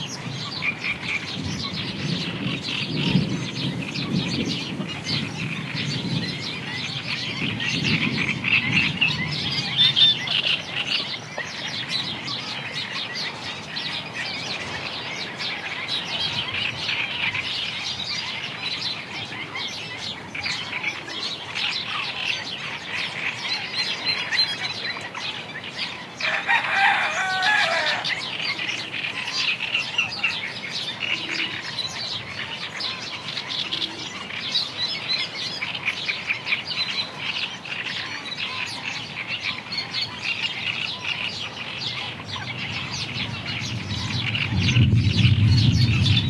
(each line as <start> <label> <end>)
0.0 rain drops 36.1
0.0 Coot 46.2
0.0 Great Reed Warbler 46.2
0.0 wind 46.2
0.0 distant thunder 21.6
25.9 Rooster 34.2
40.6 rain drops 46.2
42.1 distant thunder 46.2